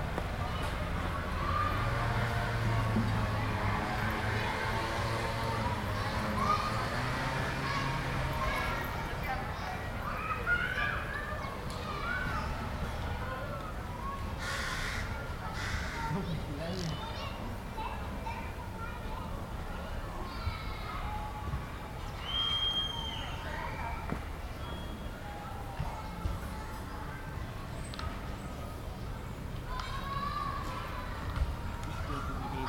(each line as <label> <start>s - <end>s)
cars in the distance 0.0s - 32.6s
Kids playing 0.4s - 24.2s
two teenagers talking close by 5.3s - 21.9s
Kids playing 29.6s - 32.6s